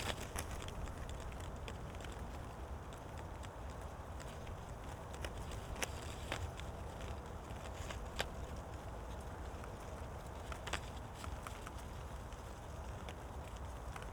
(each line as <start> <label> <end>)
0.0 paper stripes fluttering in the wind 14.1